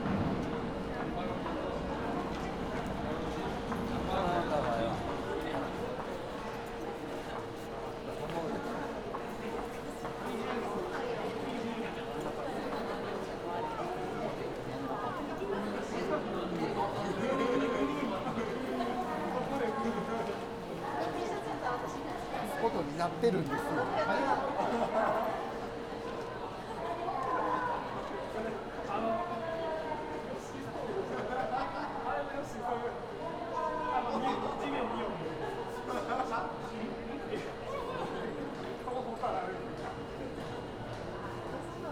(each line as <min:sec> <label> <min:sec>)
0:00.0 train arriving shortly 0:17.0